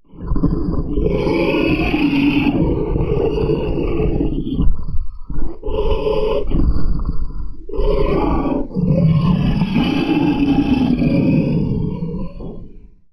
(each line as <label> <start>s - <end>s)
growling monster 0.0s - 13.0s